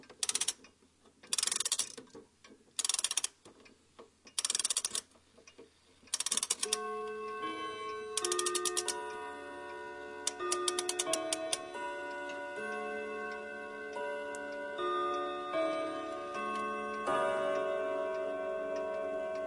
ticktock 0:00.0 - 0:19.4
winding a wall clock with a key 0:00.0 - 0:19.4
bells chime the melody and strike once 0:06.6 - 0:19.4

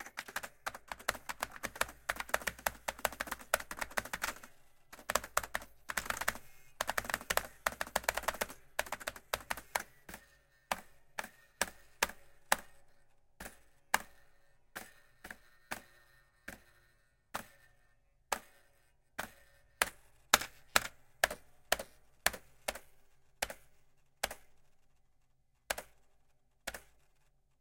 Vintage keyboard 0:00.0 - 0:10.2

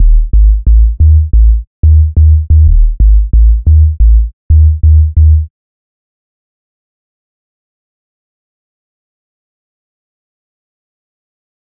808 sub basslines 0:00.0 - 0:05.5

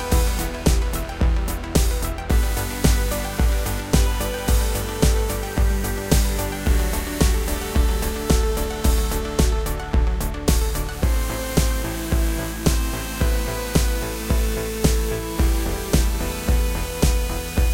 bass 0:00.0 - 0:17.7
drum 0:00.0 - 0:17.7
electro pop melody 0:00.0 - 0:17.7
synth 0:00.0 - 0:17.7

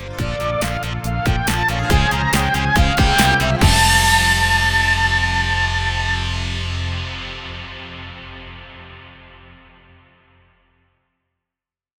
Outro Jingle 0:00.0 - 0:09.4

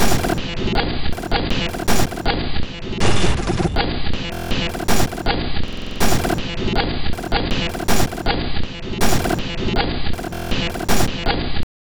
Drum Loop 0:00.0 - 0:02.3
Drum Loop 0:04.2 - 0:08.4
Drum Loop 0:09.0 - 0:11.3

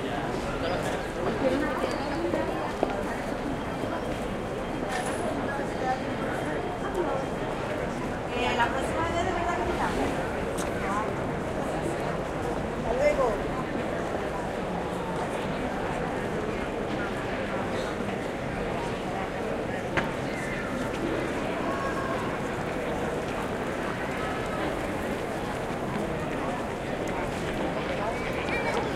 adults talk 0:00.0 - 0:28.9
kids play 0:27.9 - 0:28.9

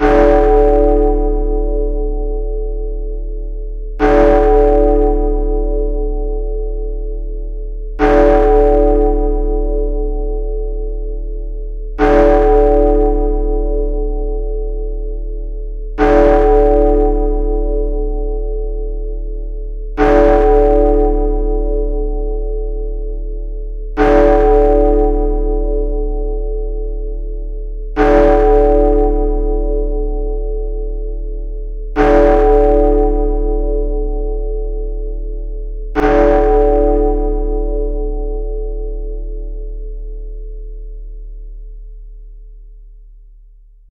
Large bell with 10 strikes 0:00.0 - 0:42.9

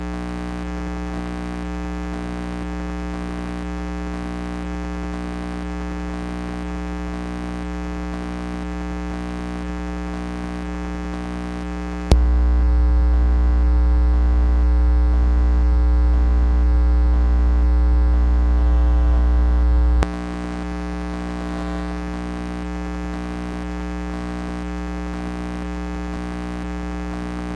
buzz 0:00.0 - 0:27.5
changing radio station 0:16.9 - 0:22.3

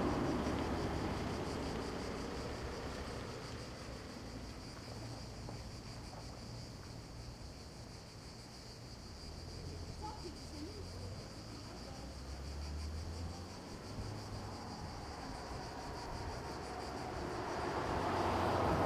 Cars passing on the road 0:00.0 - 0:07.6
crickets 0:00.0 - 0:18.8
Cars passing on the road 0:09.1 - 0:18.8
voices of people 0:09.4 - 0:17.9

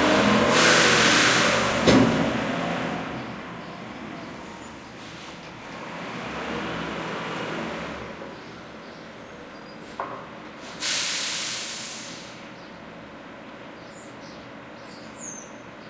waste management truck empties dumpster 0:00.0 - 0:03.3
waste management truck empties dumpster 0:09.8 - 0:12.4

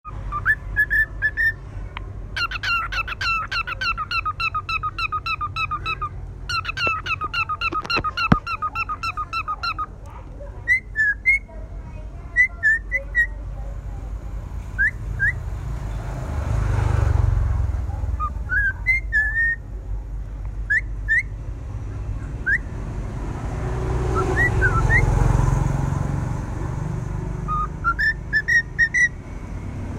parrot 0:00.1 - 0:01.6
parrot 0:02.3 - 0:11.5
parrot 0:12.3 - 0:13.5
parrot 0:18.0 - 0:19.6
parrot 0:27.5 - 0:29.2

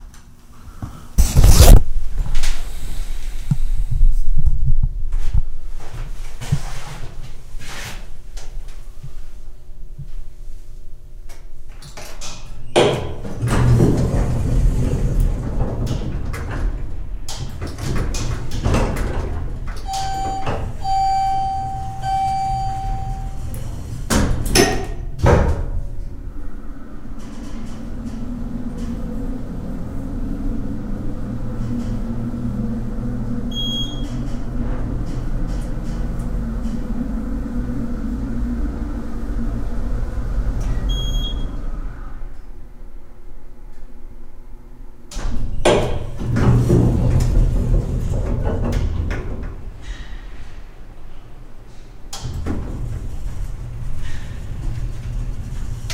Elevator ascending two floors 0:00.0 - 0:55.9
breathing 0:00.5 - 0:01.2
doors closing 0:11.3 - 0:42.8
doors closing 0:45.0 - 0:55.9

